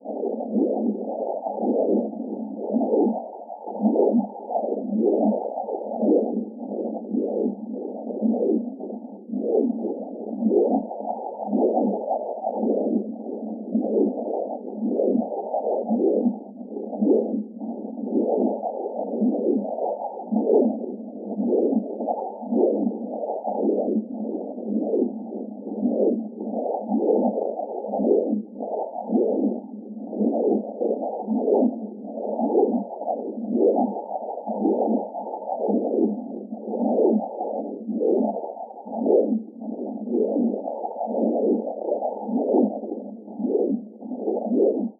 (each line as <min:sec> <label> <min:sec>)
0:00.0 heart sonogram 0:44.9